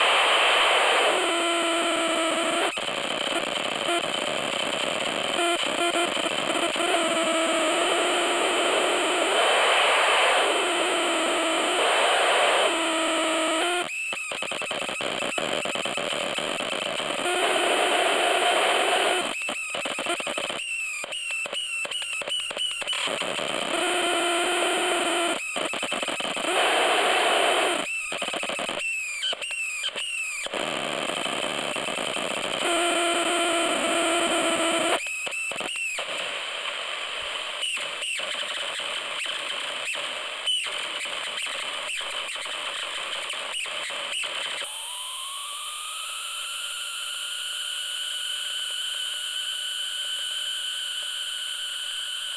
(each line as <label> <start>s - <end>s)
Lo-fi AM/FM radio 0.0s - 13.9s
static 0.0s - 52.3s
Lo-fi AM/FM radio 15.0s - 19.3s
Lo-fi AM/FM radio 23.0s - 27.8s